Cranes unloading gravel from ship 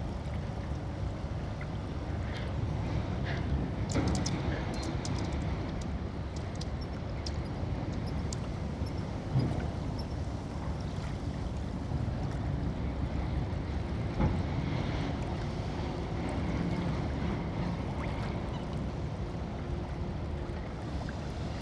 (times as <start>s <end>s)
2.1s 10.7s